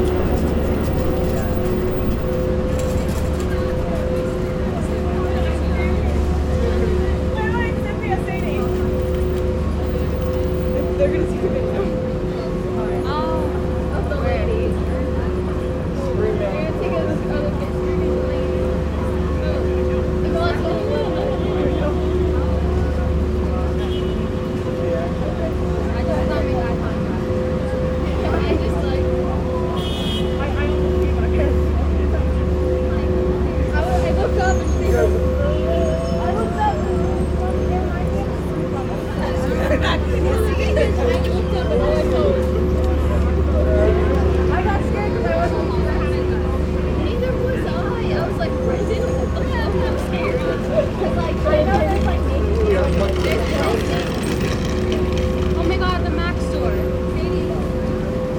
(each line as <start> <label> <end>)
0.0 subway 58.3
0.0 tourists 58.3